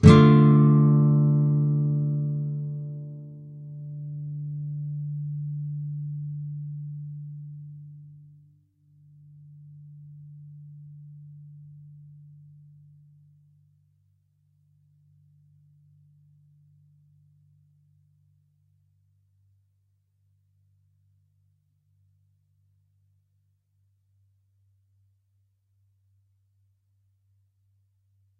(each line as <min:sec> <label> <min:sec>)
0:00.0 nylon guitar 0:08.3